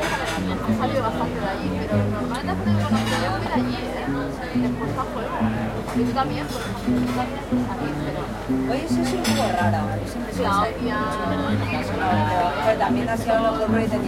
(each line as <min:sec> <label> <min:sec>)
0:00.0 people jabbering 0:14.0
0:00.0 tuna street music band 0:14.0